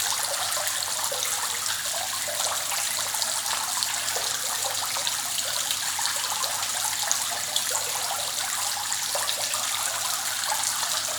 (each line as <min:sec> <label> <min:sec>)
0:00.0 water 0:11.1